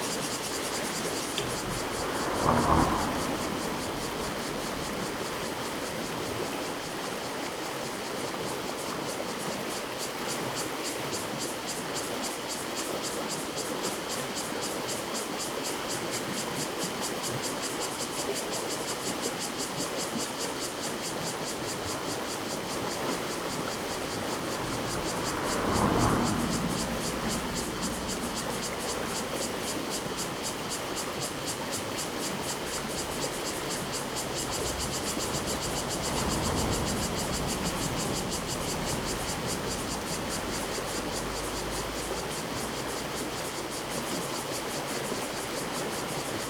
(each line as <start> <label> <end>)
0.0 Traffic Sound 6.9
0.0 Cicadas sound 46.4
0.0 streams 46.4
21.7 Traffic Sound 44.6